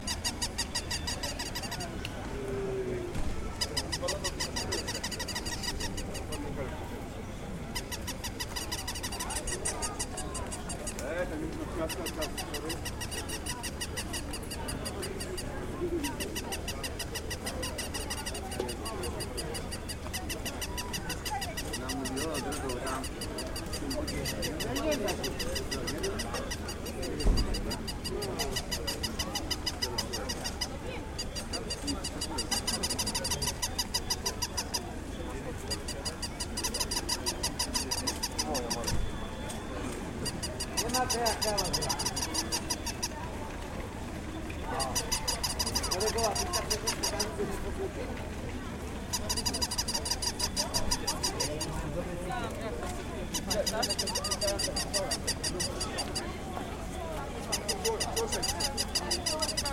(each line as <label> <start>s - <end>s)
Barking Puppy Toys 49.2s - 51.6s
Barking Puppy Toys 53.4s - 56.0s
Barking Puppy Toys 57.6s - 59.7s